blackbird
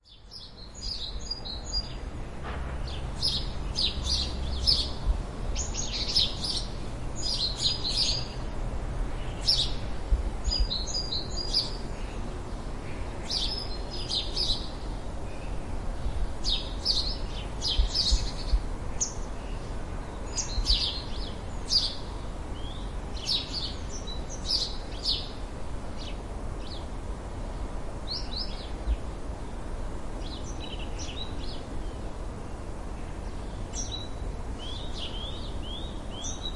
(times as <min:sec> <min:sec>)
0:02.8 0:05.0, 0:05.6 0:08.4, 0:20.3 0:25.4, 0:33.7 0:36.5